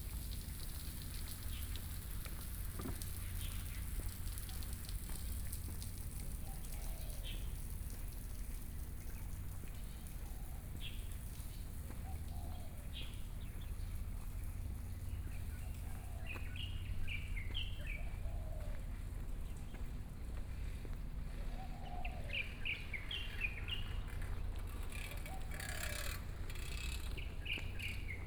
21.6s Birds singing 28.2s
24.2s distant fishing 28.2s

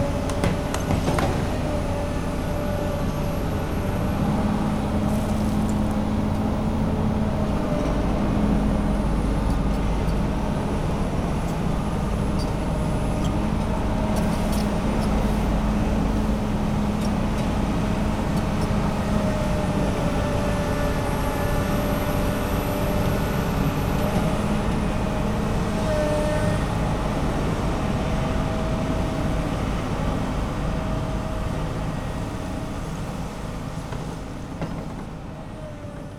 0.0s 40 workers 36.1s
0.0s Huge construction works 36.1s

